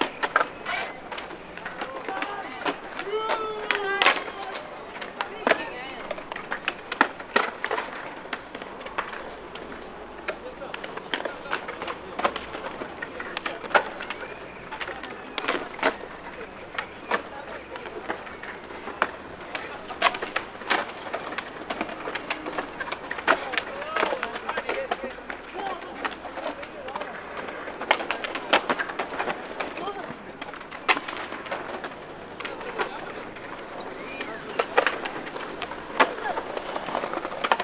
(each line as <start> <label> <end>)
0.0 Skaters rolling 37.6
0.0 traffic 37.6
1.9 shouts 4.6